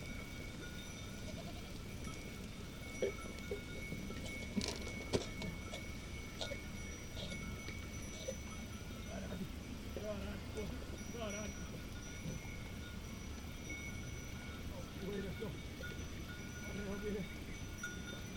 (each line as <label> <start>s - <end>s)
Sheppard and his goats 0.0s - 18.3s